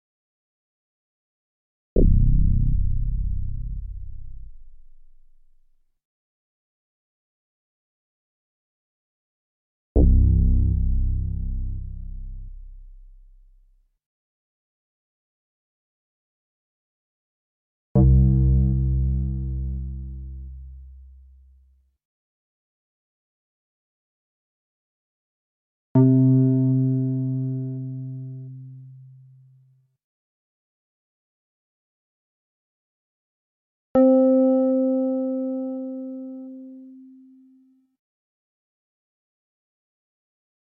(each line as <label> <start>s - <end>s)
synthesizer 34.0s - 37.2s